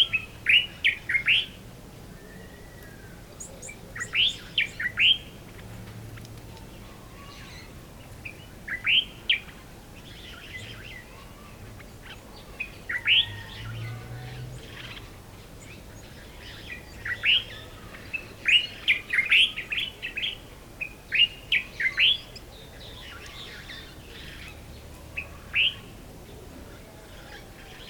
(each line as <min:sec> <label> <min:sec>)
0:00.0 birds 0:27.8